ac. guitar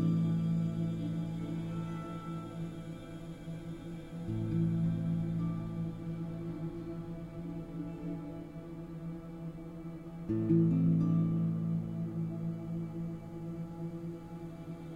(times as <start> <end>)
0.0 8.5